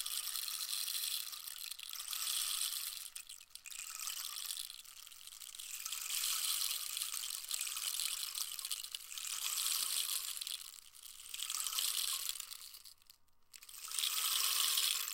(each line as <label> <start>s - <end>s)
rain stick 11.4s - 15.1s